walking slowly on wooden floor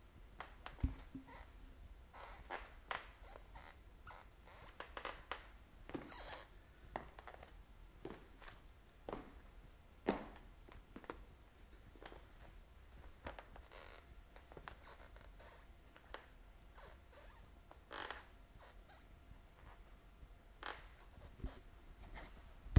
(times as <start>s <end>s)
4.6s 18.2s